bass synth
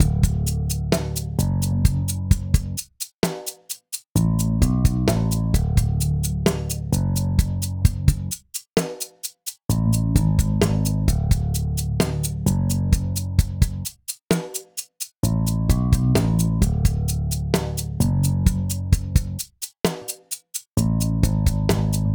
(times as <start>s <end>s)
0.0s 2.6s, 4.2s 8.3s, 9.7s 13.4s, 15.2s 19.2s, 20.8s 22.1s